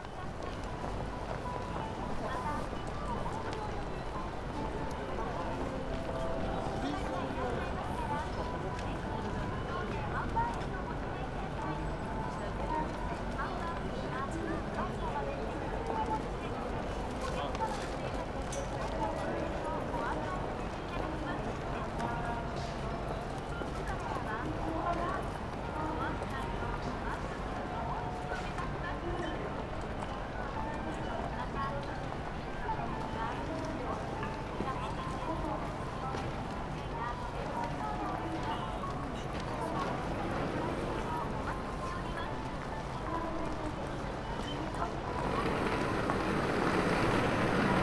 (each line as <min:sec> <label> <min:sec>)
0:00.0 people walking out of the station 0:47.8
0:33.0 omnipresent announcements 0:47.8
0:39.0 trains swishing above 0:43.0
0:43.7 trains swishing above 0:47.8